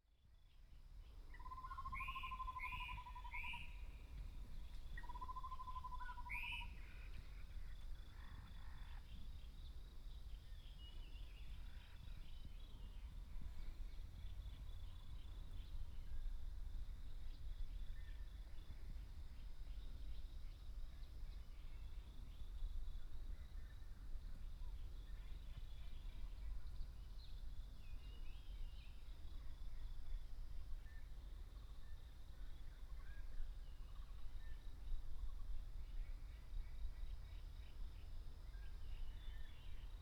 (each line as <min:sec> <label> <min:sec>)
0:01.3 Bird sounds 0:16.2